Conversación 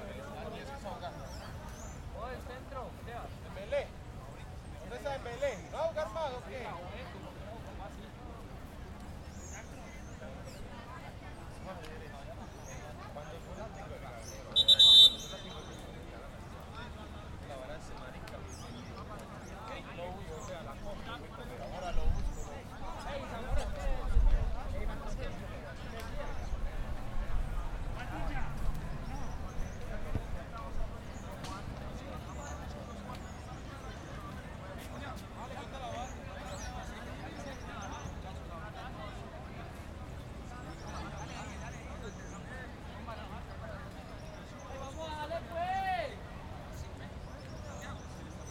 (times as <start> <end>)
12.4 26.6